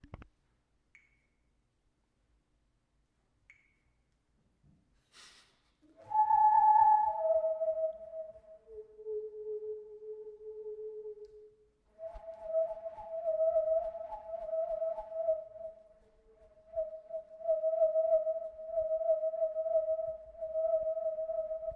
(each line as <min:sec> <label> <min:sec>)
0:05.9 Hallow Tube Whistle 0:21.7